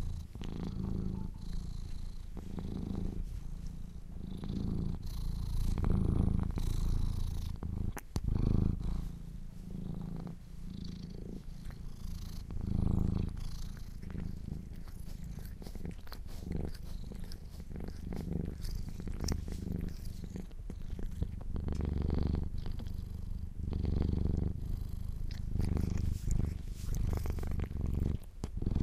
cat purring 0.0 - 28.8
Cleaning Fur 12.6 - 21.4
Cleaning Fur 24.5 - 28.8

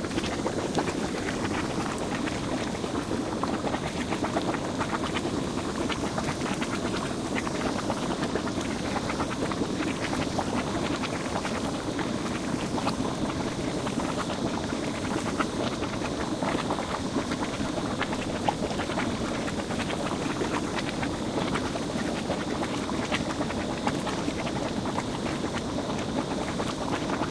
mud bubbling 0.0 - 27.3

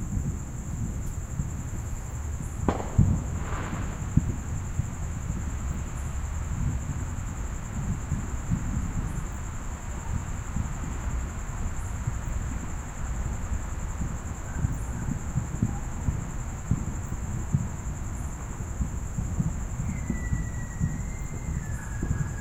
crickets 0.0 - 22.4
fireworks being set off faintly in the background 0.0 - 22.4
dogs bark at the fireworks 2.6 - 4.5

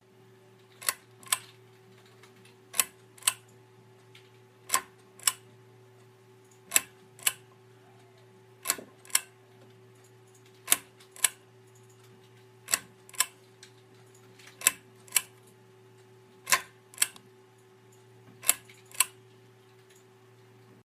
Light Switch Chain 16.5 - 19.2

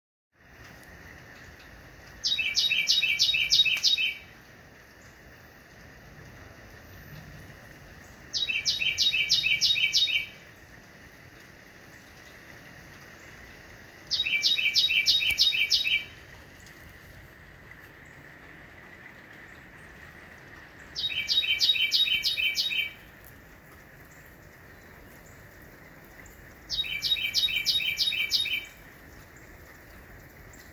Carolina Wren calling from a palm tree 2.2 - 4.4
Carolina Wren calling from a palm tree 8.0 - 10.7
Carolina Wren calling from a palm tree 14.1 - 16.7
Carolina Wren calling from a palm tree 20.8 - 23.3
Carolina Wren calling from a palm tree 26.2 - 29.5

